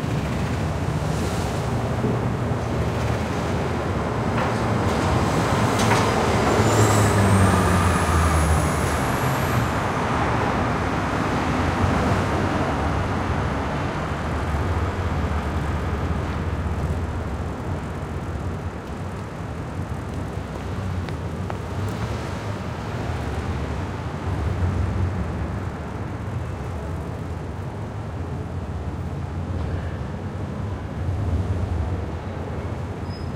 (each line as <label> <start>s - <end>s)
Bus 0.0s - 33.3s
Traffic 0.0s - 33.3s
trucks 0.0s - 33.3s
footsteps on the sidewalk 15.0s - 24.6s